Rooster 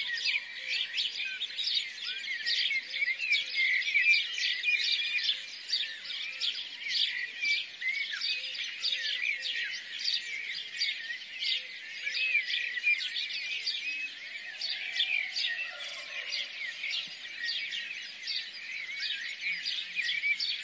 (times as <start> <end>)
14.6 17.2